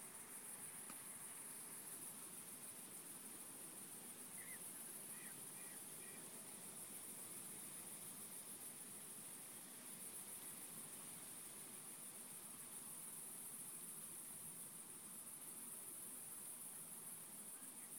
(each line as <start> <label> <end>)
0.0 crickets 17.9
0.0 wind 17.9
4.3 birds 6.3